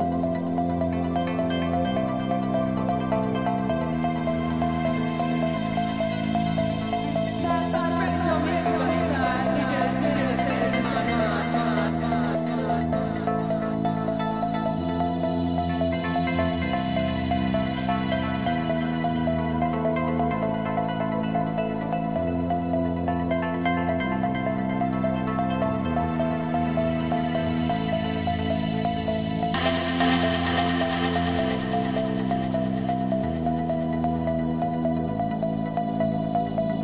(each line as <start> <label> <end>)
0.0 Synths 36.8